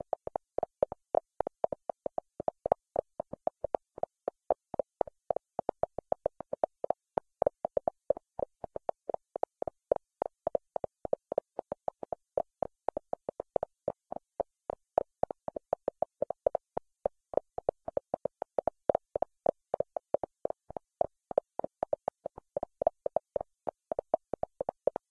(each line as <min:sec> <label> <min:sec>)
0:00.0 Random beats from a filtered noise source 0:25.1